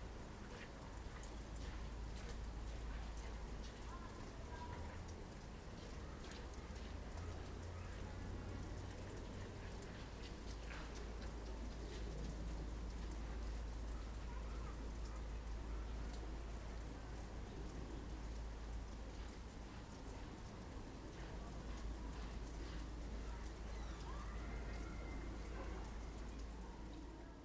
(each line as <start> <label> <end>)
16.1 melting snow 27.4